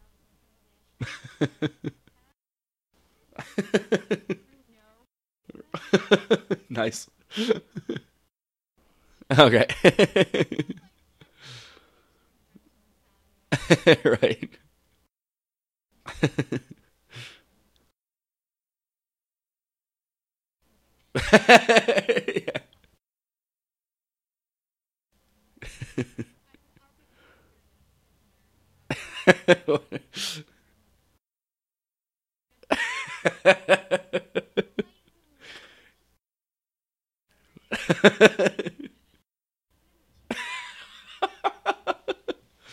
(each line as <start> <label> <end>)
21.2 sincere laughing from a man 22.8
40.3 sincere laughing from a man 42.7